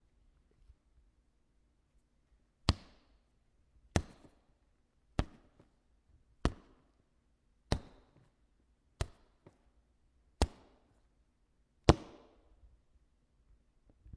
6.4s hitting a kicking bag with a bamboo rod 6.8s
7.7s hitting a kicking bag with a bamboo rod 8.2s
9.0s hitting a kicking bag with a bamboo rod 9.6s
11.9s hitting a kicking bag with a bamboo rod 12.4s

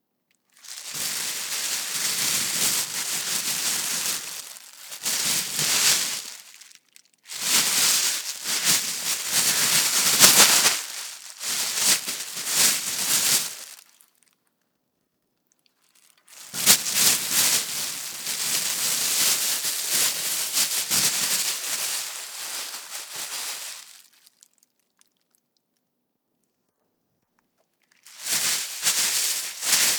0.6s Handling a plastic bag 13.9s
16.3s Handling a plastic bag 24.4s
28.1s Handling a plastic bag 29.9s

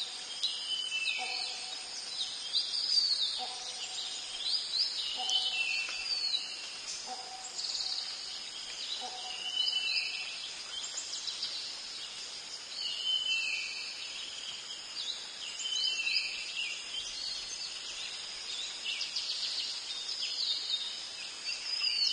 0.0s birds echo 11.6s
0.0s crickets 22.1s

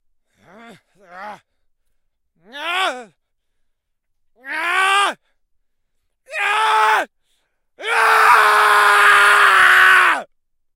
4.4s Screams of frustration 5.2s
6.3s Screams of frustration 7.1s
7.8s Screams of frustration 10.3s

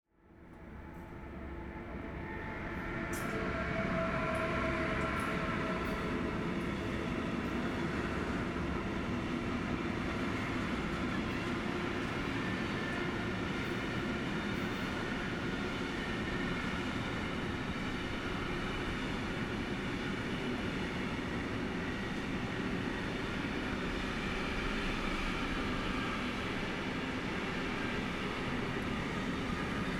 0.6s Cargo train passing by at a close range 29.9s

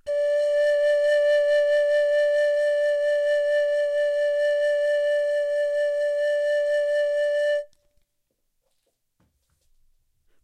0.0s long tone vibrato pan pipe 7.7s

